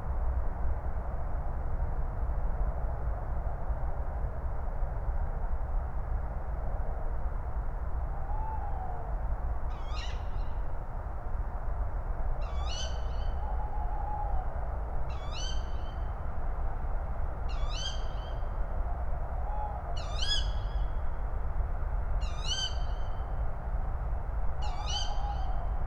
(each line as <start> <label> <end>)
8.0 distant traffic howl 25.8
9.7 Tawny owls, male and female 10.7
12.4 Tawny owls, male and female 14.5
15.1 Tawny owls, male and female 16.1
17.5 Tawny owls, male and female 18.5
19.4 Tawny owls, male and female 20.9
22.2 Tawny owls, male and female 23.3
24.6 Tawny owls, male and female 25.8